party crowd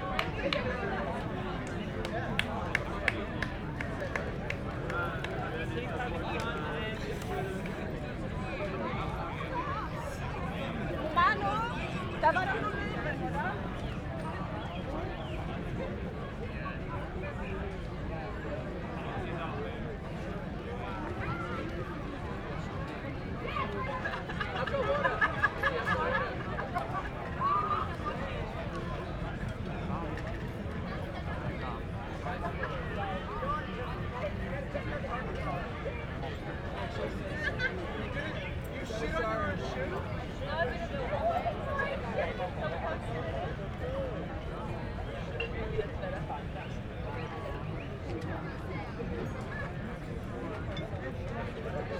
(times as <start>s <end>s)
0.0s 7.8s